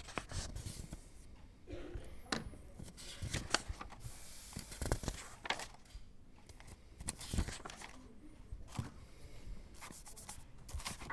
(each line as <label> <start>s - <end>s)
drawing class 2.2s - 11.1s